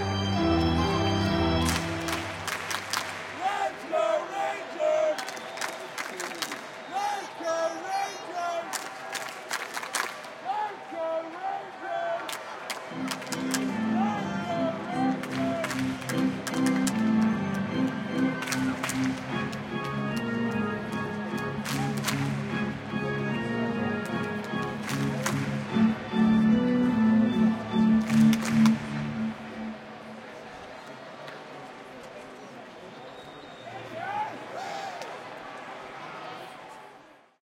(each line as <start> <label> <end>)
0.0 organ 2.7
3.2 Crowd chanting 5.6
12.9 organ 29.4